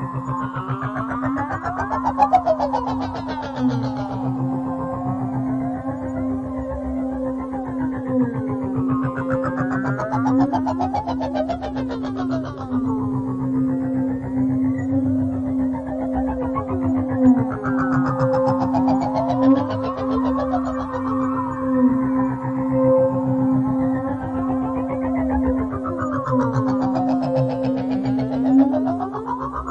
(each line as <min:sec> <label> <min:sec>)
0:00.0 Drone 0:29.7